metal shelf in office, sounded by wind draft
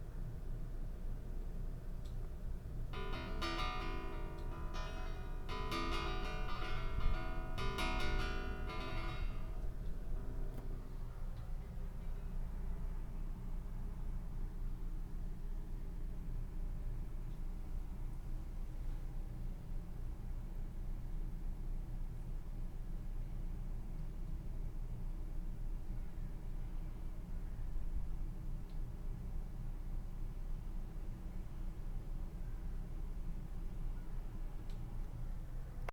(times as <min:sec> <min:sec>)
0:02.9 0:12.6